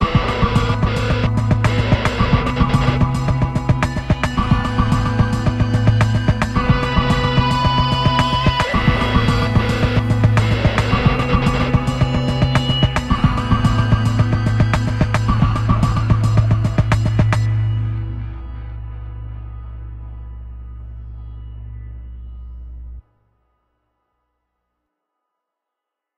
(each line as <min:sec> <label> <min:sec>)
0:00.0 drums 0:17.8
0:00.0 guitar 0:23.0